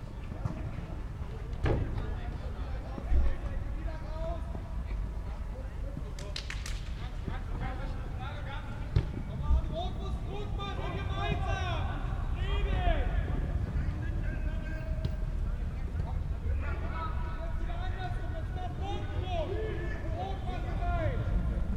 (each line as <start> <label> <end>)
0.0 Fußball-training 12.1